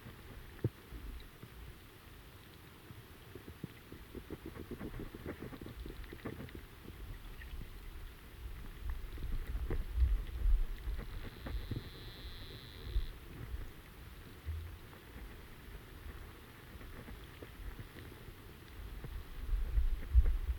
0.0s underwater sound flow in river 20.5s

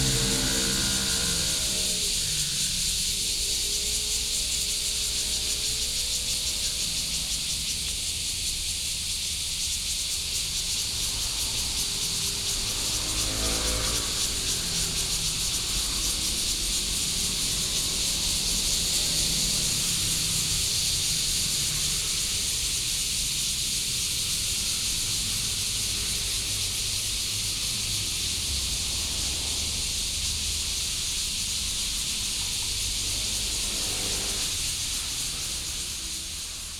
0.0s Traffic sound 36.7s
0.0s cicadas sound 36.7s

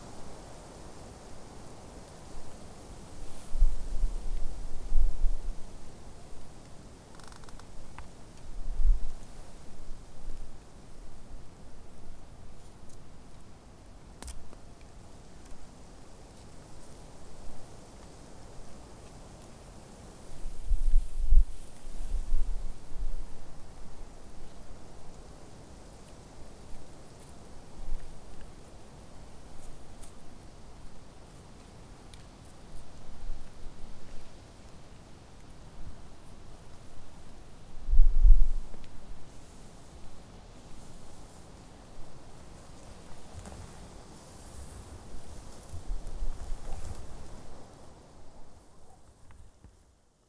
0.0s Wind in the grass 50.2s
6.6s Cracking sounds from the nearby birch 8.5s
14.2s Cracking sounds from the nearby birch 15.6s

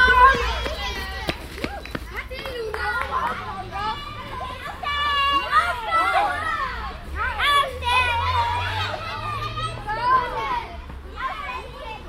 0.0s kids gathering in front of a school 12.0s

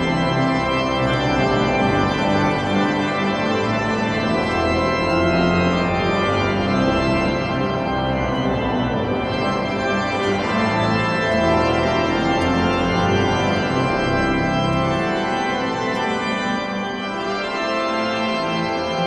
0.0s organ 19.0s
0.0s people going out of the cathedral 19.0s

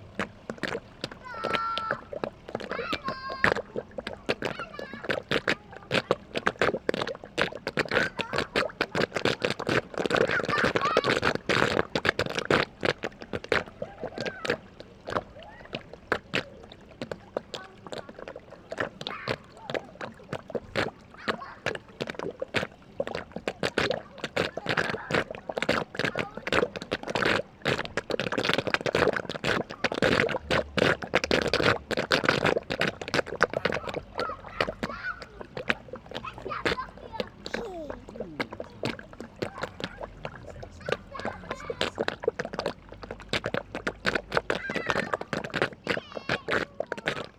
0.0s playing children 12.0s
0.0s gurgling drain of a fountain 47.3s
13.6s playing children 22.2s
33.1s playing children 47.3s

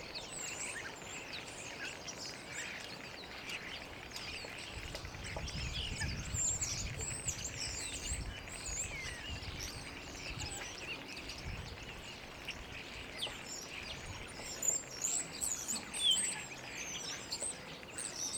0.0s starlings 18.3s

